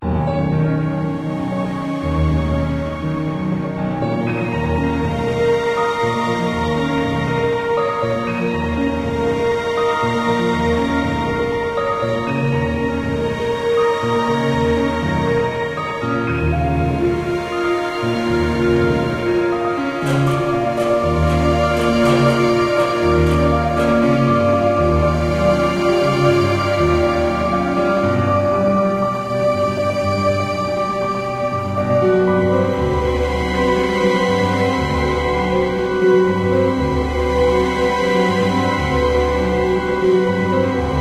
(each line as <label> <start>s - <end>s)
Orchestral String 0.0s - 41.0s
Piano 0.0s - 41.0s